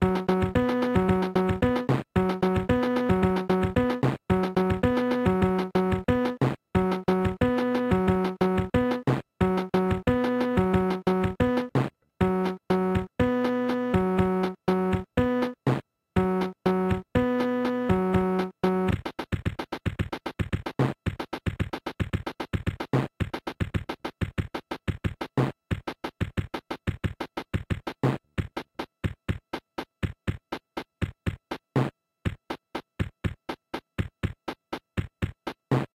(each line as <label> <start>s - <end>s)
cheap kids keyboard 0.0s - 35.9s
percussion only version 0.0s - 35.9s